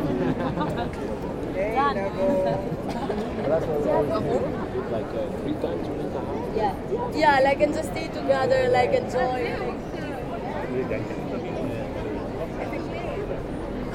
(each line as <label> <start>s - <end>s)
People drink by the water 0.0s - 7.3s